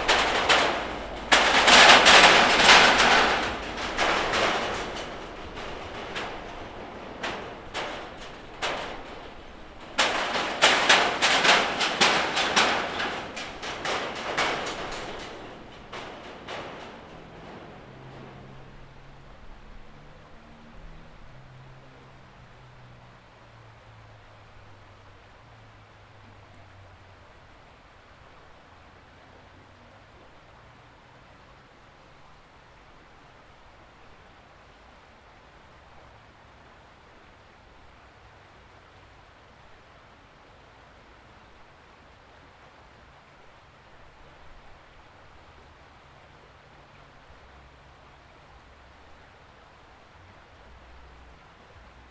0.0s cars pass occasionally over the nearby metal bridge 52.1s
0.0s river 52.1s

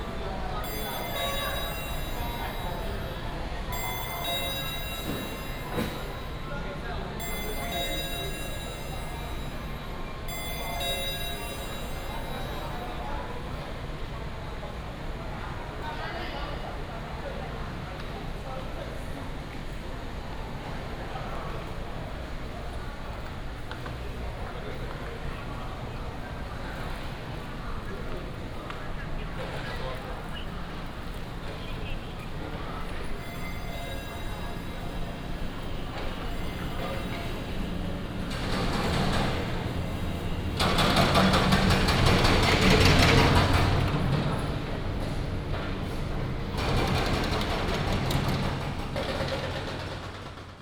0.0s Ticket counter sound 13.4s
0.0s Convenience store sound 13.5s
28.8s Convenience store sound 50.2s
30.0s Ticket counter sound 44.6s

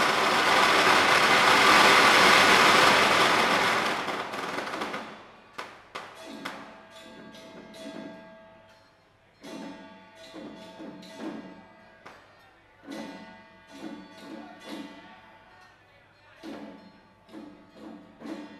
0.0s Traditional festival parade 8.7s
9.3s Traditional festival parade 15.4s
16.4s Traditional festival parade 18.5s

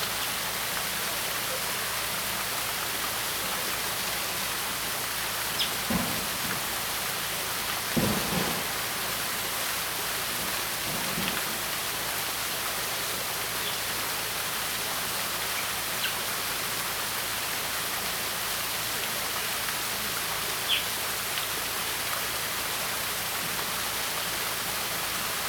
0.0s water 25.4s
3.7s Track construction 13.0s
5.4s Birds call 6.4s
20.6s Birds call 21.6s

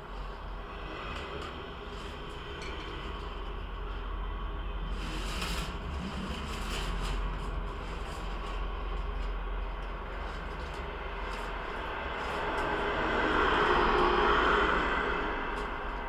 0.0s traffic resonate throughout the fence 16.0s
4.8s tree branches brushing against it 14.0s

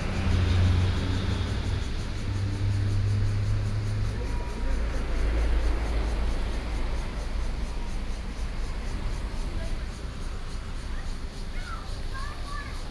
0.0s Traffic Sound 12.9s

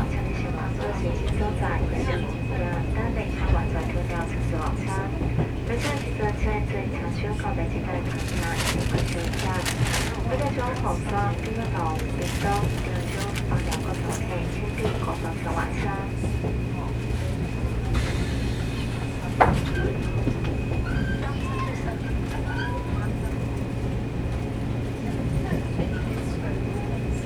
0.0s On the train 27.2s

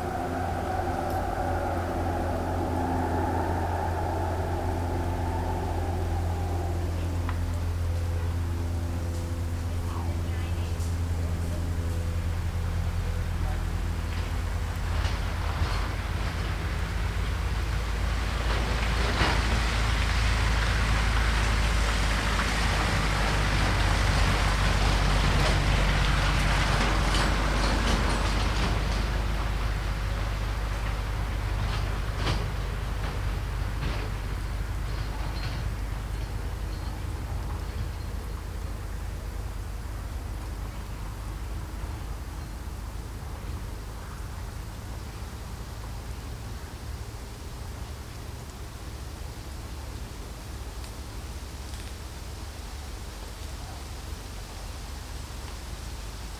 0.0s Glider pilots take off 43.5s
0.0s take off and land small aircraft 56.3s
18.4s cable winch 42.5s

